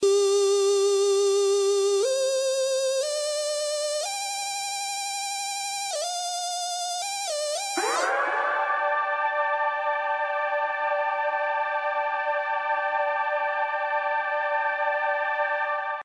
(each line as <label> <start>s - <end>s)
riff 7.0s - 10.2s